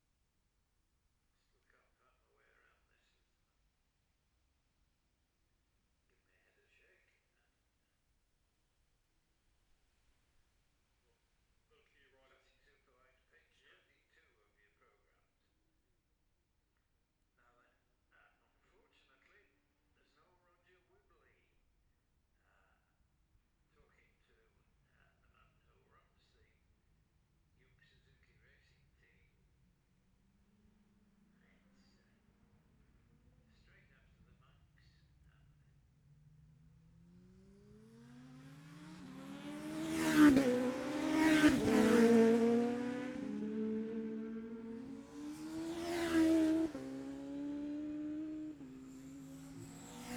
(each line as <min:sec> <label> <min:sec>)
0:28.2 classic superbike practice 0:50.1